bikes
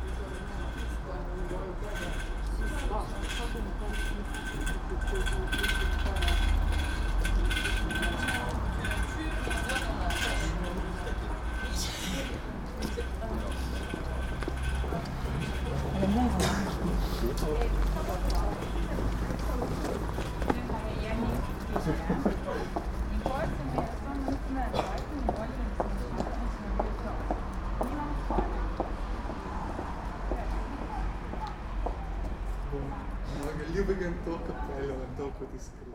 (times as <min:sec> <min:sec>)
0:00.0 0:26.2